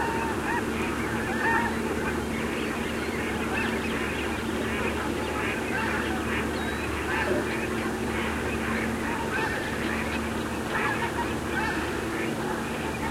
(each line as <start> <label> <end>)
0.0 Frogs 13.1
0.0 Fulvous Whistling Duck 13.1
0.0 Mallards 13.1
0.0 Snow Geese 13.1